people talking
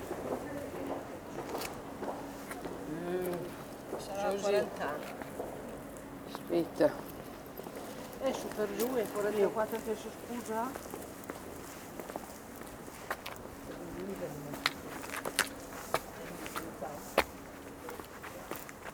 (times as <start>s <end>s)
2.9s 5.1s, 8.2s 10.8s, 13.7s 14.7s, 16.1s 17.2s